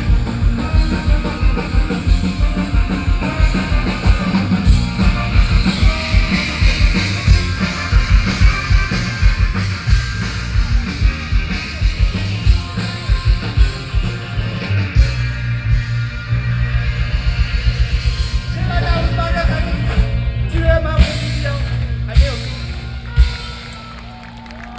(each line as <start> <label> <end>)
0.0 rock band 24.7